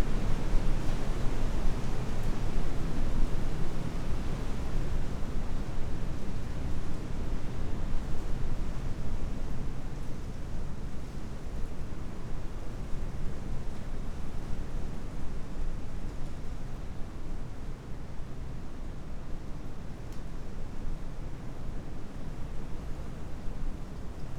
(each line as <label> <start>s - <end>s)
strong wind heard in a shelter 0.0s - 24.3s